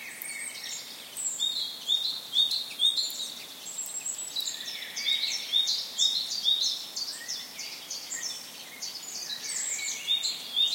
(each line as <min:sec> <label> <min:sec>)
0:00.0 Forest birds singing 0:10.7